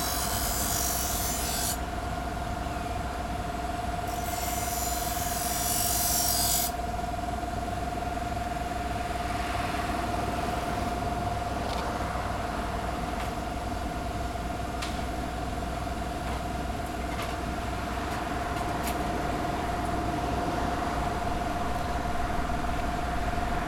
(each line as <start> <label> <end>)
0.0 man sharpening restaurant knives on an electric grinder 1.9
4.1 man sharpening restaurant knives on an electric grinder 6.8